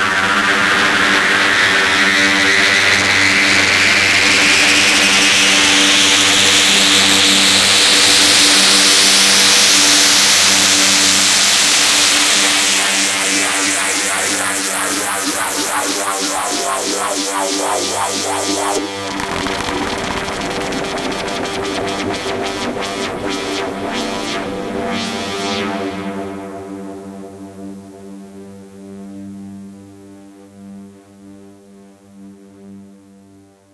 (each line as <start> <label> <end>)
19.1 fm fx sweep sound 21.8